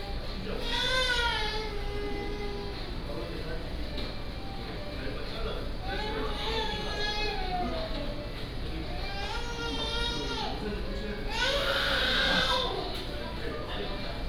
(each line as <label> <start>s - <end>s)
Crying children 0.0s - 2.8s
Crying children 5.9s - 7.9s
Crying children 8.9s - 10.6s
Crying children 11.3s - 12.9s